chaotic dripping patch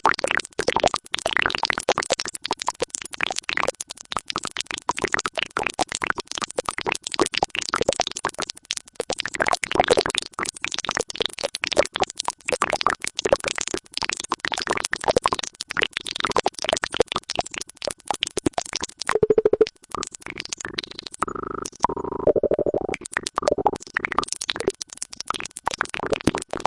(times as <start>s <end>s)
19.1s 26.6s